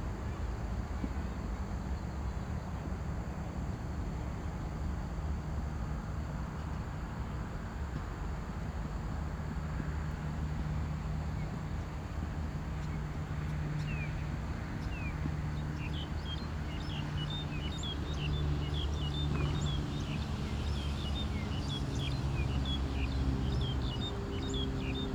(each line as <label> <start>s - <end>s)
Birds singing 14.8s - 25.1s